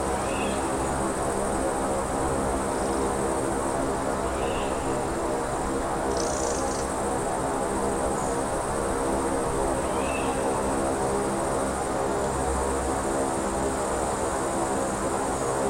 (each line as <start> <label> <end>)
0.0 natural drone 15.6